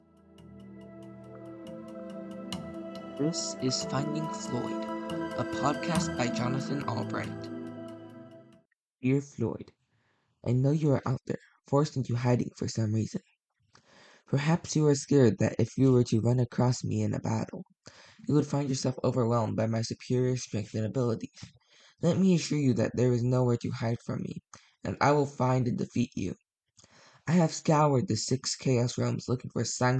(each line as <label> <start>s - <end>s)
podcast 1.6s - 7.7s